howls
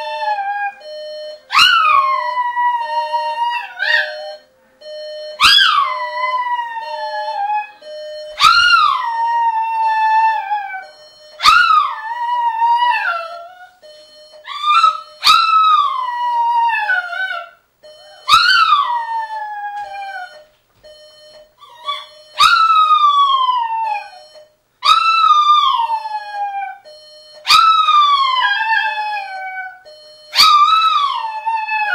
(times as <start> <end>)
0.0 0.8, 8.4 13.8, 14.5 20.4, 21.6 24.2, 24.9 26.8, 27.5 29.8, 30.4 31.9